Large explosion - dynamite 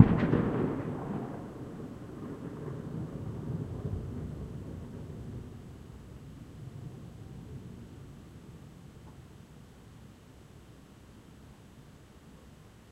0:00.0 0:05.0

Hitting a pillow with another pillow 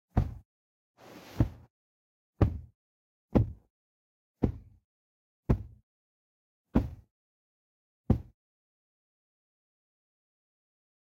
0:02.4 0:02.7, 0:06.8 0:07.1, 0:08.1 0:08.4

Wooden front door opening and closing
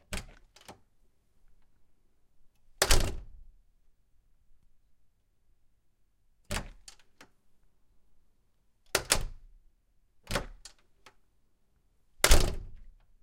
0:00.0 0:00.9, 0:02.7 0:03.5, 0:06.4 0:07.2, 0:08.9 0:09.5, 0:10.2 0:10.8, 0:12.2 0:13.2

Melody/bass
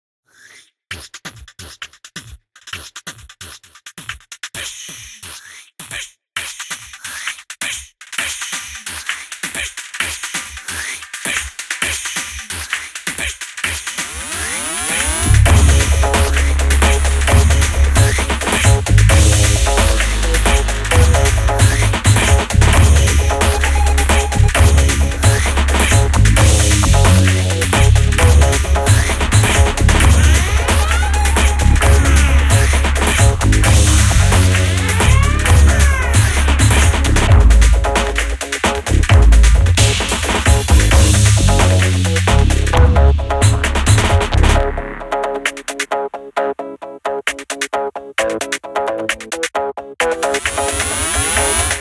0:15.2 0:45.4

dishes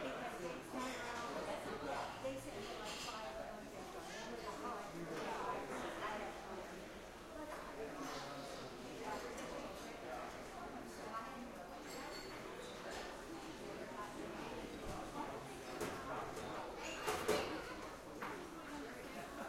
0:11.8 0:12.8

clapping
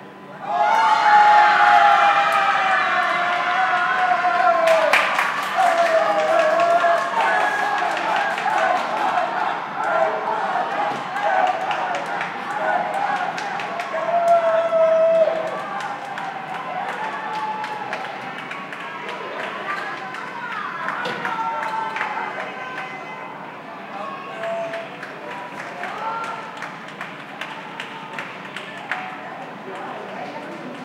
0:04.6 0:09.2, 0:11.2 0:14.4, 0:15.1 0:22.9, 0:24.3 0:29.9

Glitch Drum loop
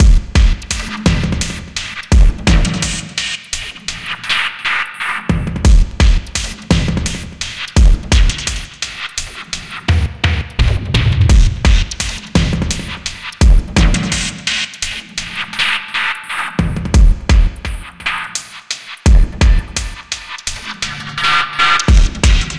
0:00.0 0:03.2, 0:05.7 0:14.4, 0:19.1 0:20.7, 0:21.5 0:22.5

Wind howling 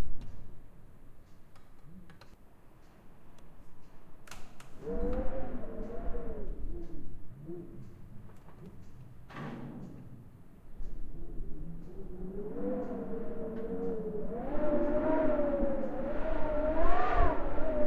0:04.8 0:08.4, 0:10.6 0:17.8

